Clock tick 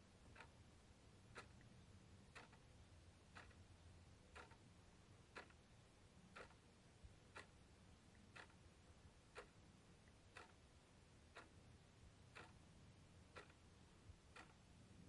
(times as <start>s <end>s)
0.2s 0.6s, 1.3s 1.7s, 2.3s 3.7s, 4.3s 5.6s, 6.3s 6.7s, 7.3s 14.7s